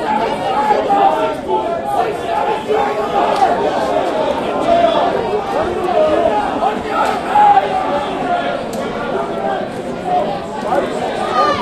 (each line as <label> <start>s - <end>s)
light chatter and conversation 0.0s - 11.6s